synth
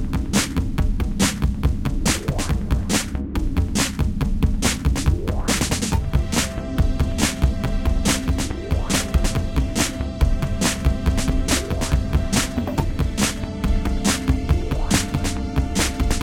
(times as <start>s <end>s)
4.5s 16.2s